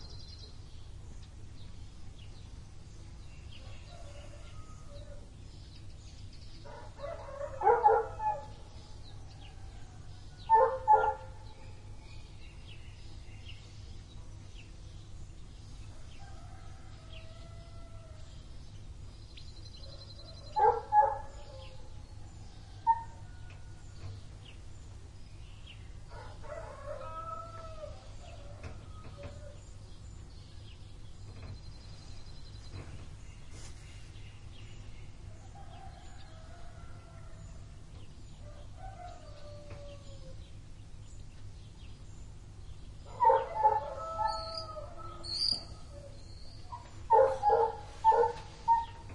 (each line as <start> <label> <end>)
0.0 Golden Oriole 49.1
10.5 barking dog 11.3
26.1 rooster 29.6
38.4 rooster 40.4
43.2 rooster 46.2
46.7 barking dog 48.9